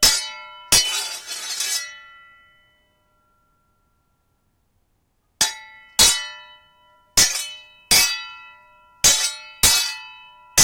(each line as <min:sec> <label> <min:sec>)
0:00.0 Swords clashing in a fight 0:02.1
0:05.4 Swords clashing in a fight 0:06.5
0:07.2 Swords clashing in a fight 0:08.4
0:09.0 Swords clashing in a fight 0:10.6